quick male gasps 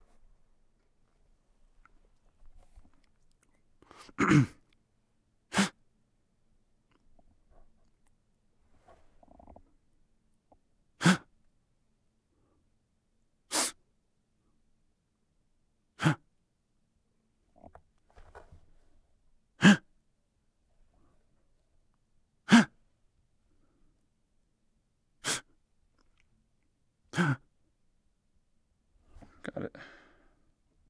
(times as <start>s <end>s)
29.2s 30.4s